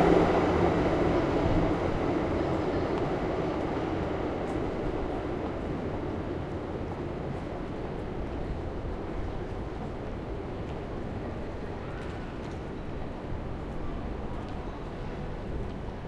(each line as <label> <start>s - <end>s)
trams 0.0s - 16.0s